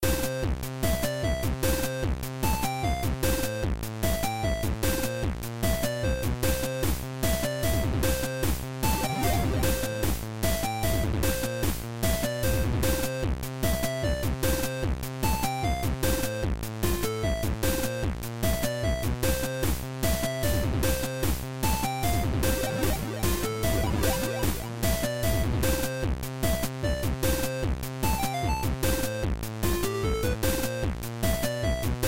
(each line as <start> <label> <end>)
8.8 chiptune 11.6
21.8 chiptune 26.0